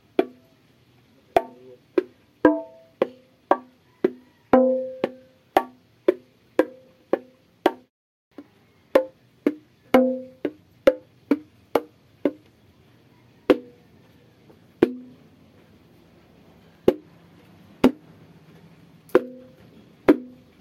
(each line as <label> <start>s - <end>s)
hits and slowly played rhythms on bongo drums 0.0s - 0.7s
background noise 0.0s - 20.6s
hits and slowly played rhythms on bongo drums 1.3s - 12.6s
hits and slowly played rhythms on bongo drums 13.4s - 20.6s